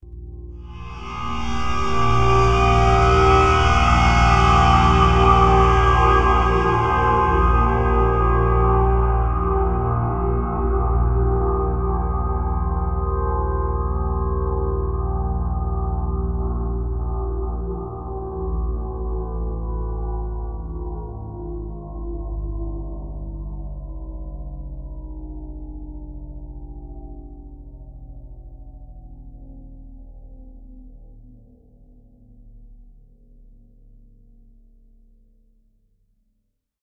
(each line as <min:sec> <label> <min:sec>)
0:00.6 metallic drone 0:18.7